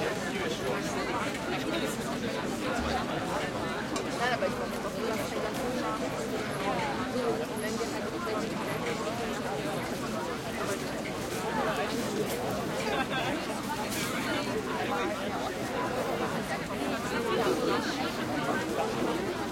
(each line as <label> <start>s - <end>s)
crowd close german and english voices 0.0s - 19.5s